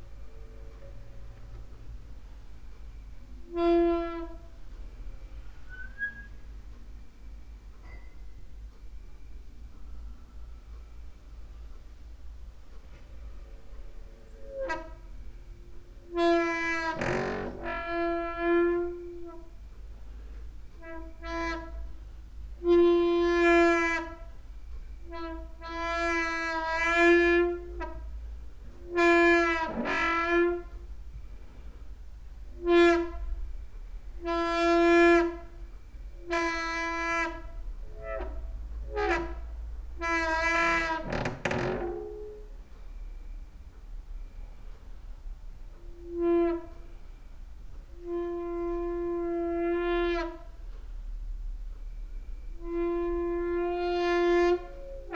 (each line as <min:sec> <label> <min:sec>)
0:34.2 quiet doors 0:42.8